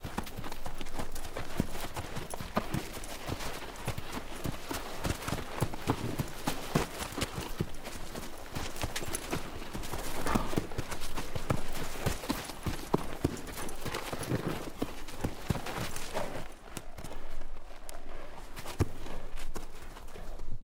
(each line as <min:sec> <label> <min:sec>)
0:00.0 Horse Spinning In Dirt 0:20.6